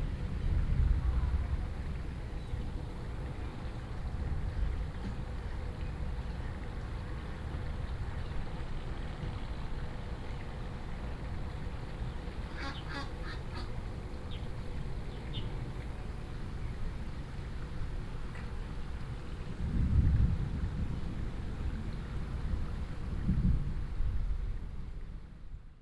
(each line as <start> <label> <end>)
19.5 Thunder 24.5